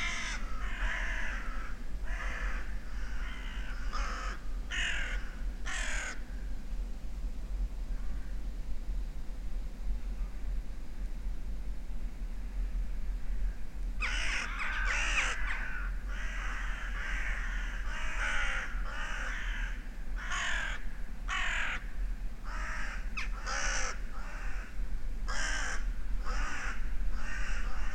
0.0s crows flying overhead 6.6s
12.2s crows flying overhead 27.9s

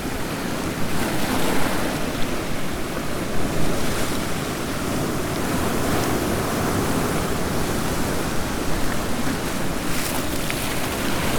0.0s waves as the tide comes in 11.3s

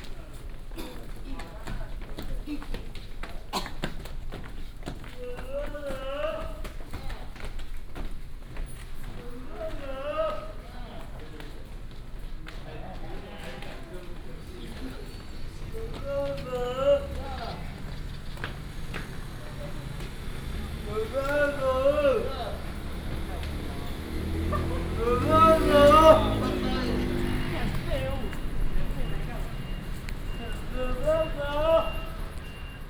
1.4s Footsteps 32.8s

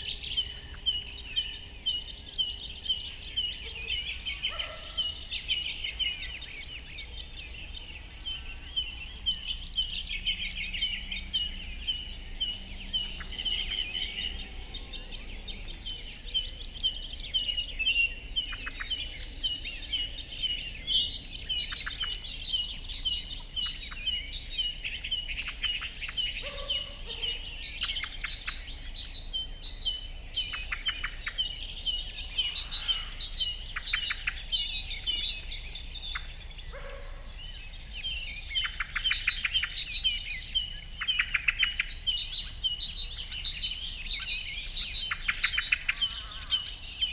0.0s morning birdscape in the fields 47.1s

